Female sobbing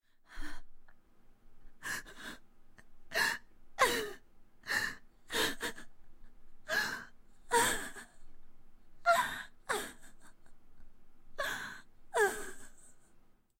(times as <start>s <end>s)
1.8s 2.4s, 3.1s 8.4s, 9.0s 12.9s